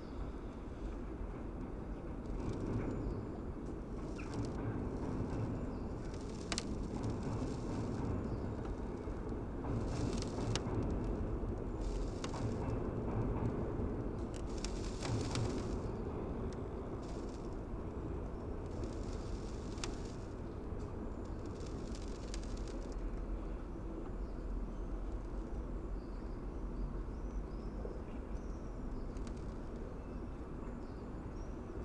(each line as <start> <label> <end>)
2.2 creaking ship's staircase 20.4
21.2 creaking ship's staircase 23.1